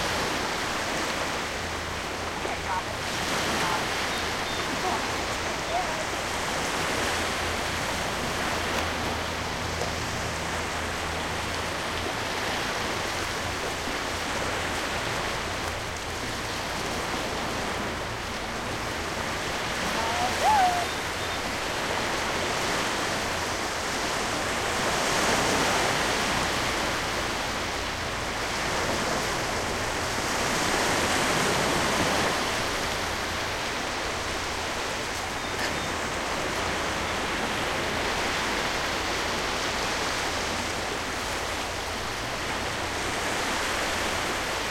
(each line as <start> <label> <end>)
0.0 waves 44.7
19.8 Intermittent voices 21.0